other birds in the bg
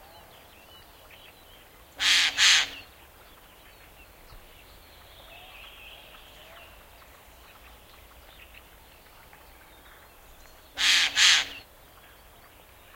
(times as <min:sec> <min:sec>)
0:00.1 0:06.0, 0:09.6 0:12.9